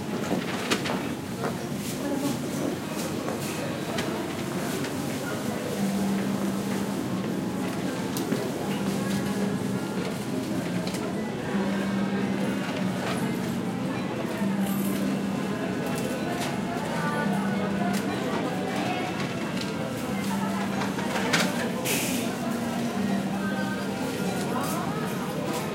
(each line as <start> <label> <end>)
1.4 voices 25.7
17.6 cash registers 25.7